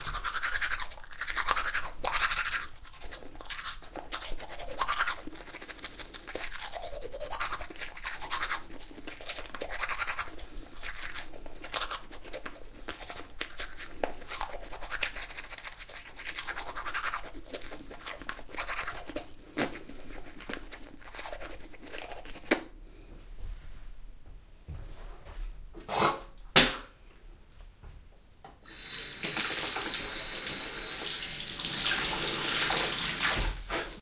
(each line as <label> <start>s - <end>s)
Tooth Brushing 0.0s - 22.7s